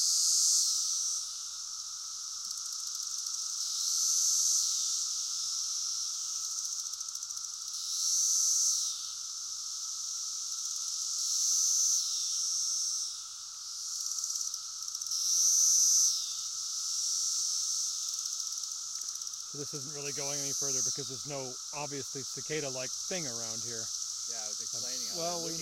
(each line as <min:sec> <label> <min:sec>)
0:00.0 Male Cicada Close Up Mating Calls 0:09.2
0:10.5 Male Cicada Close Up Mating Calls 0:25.6
0:19.6 Chorus in Background 0:25.6